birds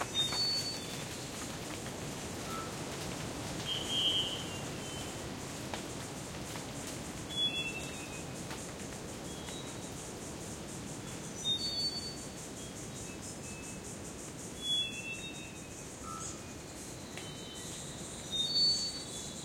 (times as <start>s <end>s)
0.0s 1.5s